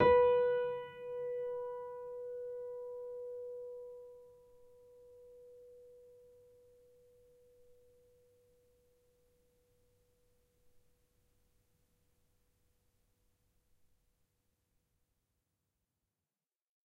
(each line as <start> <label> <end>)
0.0 upright choiseul piano 4.4